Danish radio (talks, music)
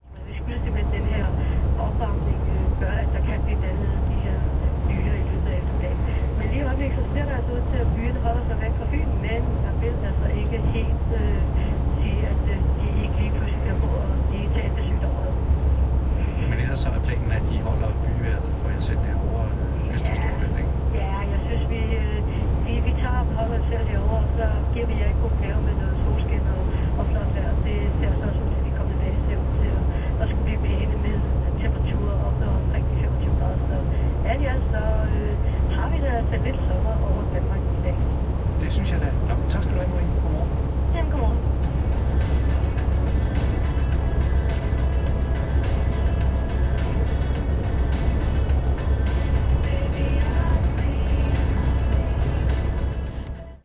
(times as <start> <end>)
16.2 33.5, 38.6 40.5, 41.6 53.6